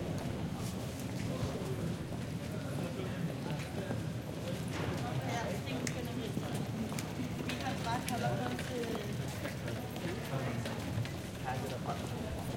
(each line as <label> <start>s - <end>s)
People walking by 0.0s - 12.5s